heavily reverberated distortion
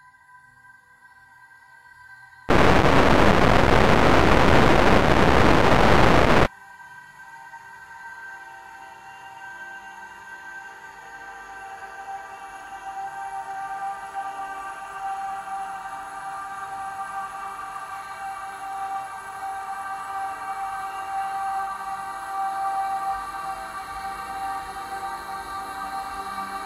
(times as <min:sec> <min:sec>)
0:02.5 0:06.5